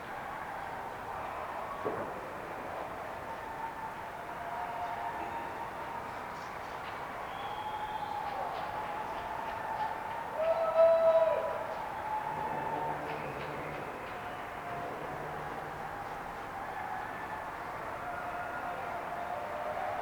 cheering 0:00.0 - 0:20.0
clapping 0:07.8 - 0:10.6
clapping 0:11.8 - 0:14.9

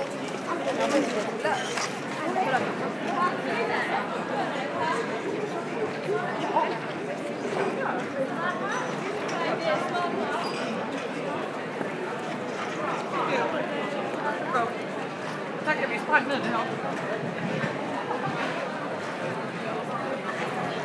restaurants 0:00.0 - 0:20.8

